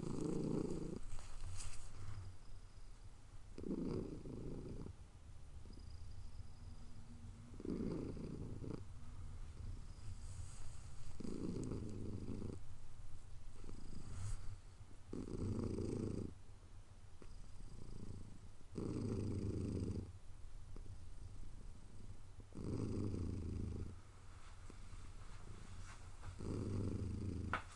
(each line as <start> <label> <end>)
0.0 purring 2.2
3.6 purring 5.0
7.5 purring 8.9
9.6 purring 12.6
13.6 purring 16.4
17.2 purring 20.1
20.8 purring 24.0
26.3 purring 27.6